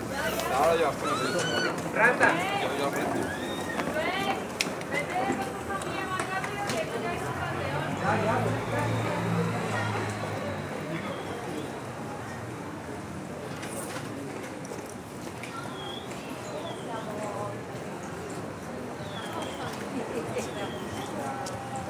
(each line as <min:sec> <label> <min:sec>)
0:00.0 Trafic noise 0:17.0
0:00.0 tourists talking 0:21.8